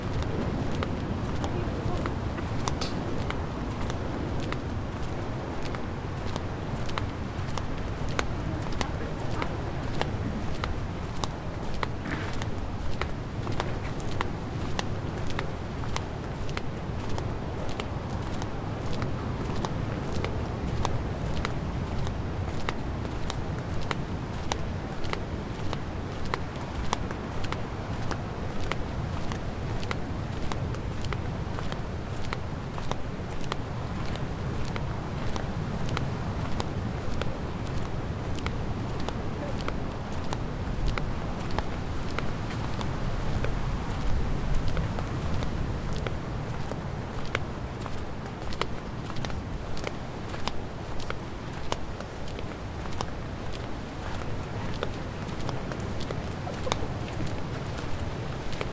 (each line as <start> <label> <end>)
0.0 Walking through some medium deep sand 58.7
0.0 Waves 58.7